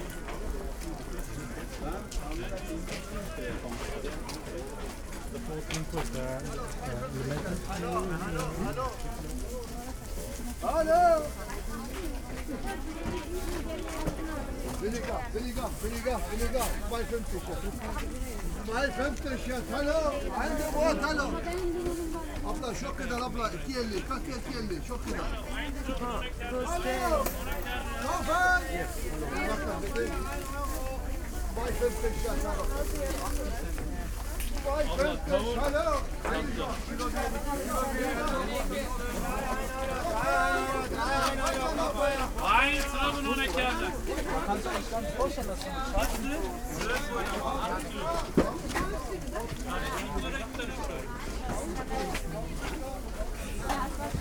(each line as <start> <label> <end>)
0.0 crowded market 54.2